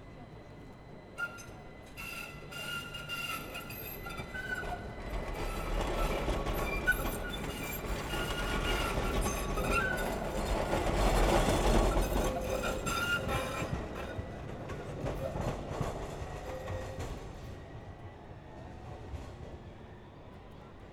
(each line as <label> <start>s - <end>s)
Tram screeching 2.0s - 17.0s